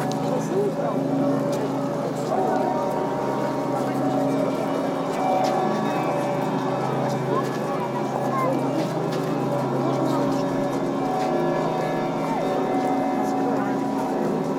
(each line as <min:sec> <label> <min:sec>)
0:01.2 Bellls chime 0:14.5